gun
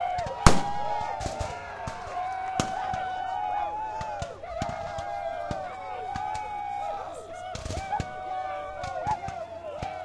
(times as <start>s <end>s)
0.4s 2.0s